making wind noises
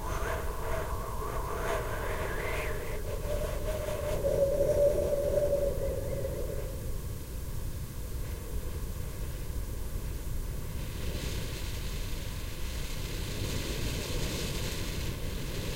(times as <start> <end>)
0.0 7.2